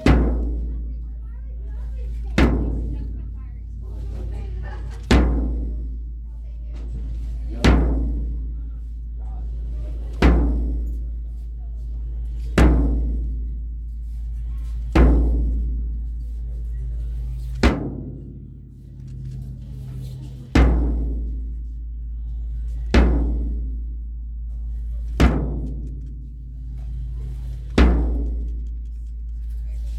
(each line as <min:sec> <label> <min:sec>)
0:00.0 bass drum hits and bangs 0:01.0
0:01.6 bass drum hits and bangs 0:11.2
0:12.4 bass drum hits and bangs 0:29.9